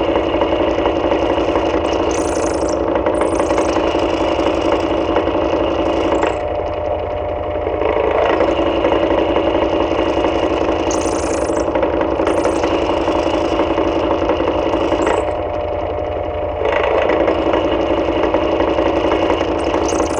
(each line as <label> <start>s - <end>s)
Desk Fan 0.0s - 20.1s